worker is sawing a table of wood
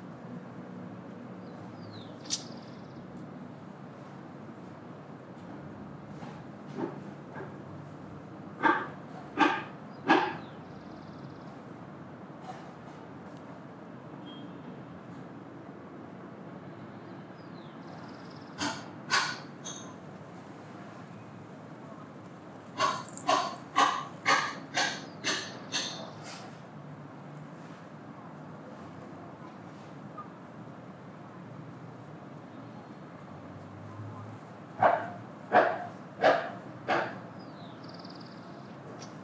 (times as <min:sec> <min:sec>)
0:22.8 0:26.5